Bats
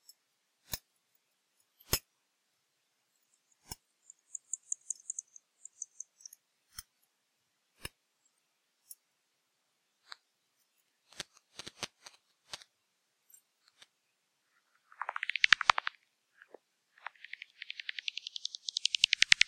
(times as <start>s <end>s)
4.0s 6.3s, 14.9s 15.9s, 17.0s 19.4s